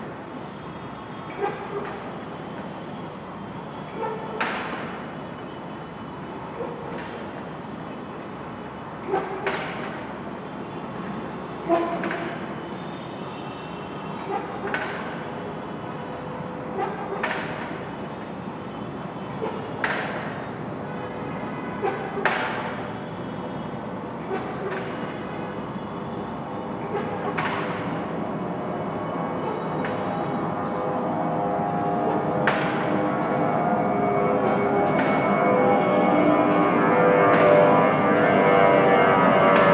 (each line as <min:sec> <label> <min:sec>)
0:00.0 Distant motorway construction 0:13.0
0:13.6 Distant motorway construction 0:39.7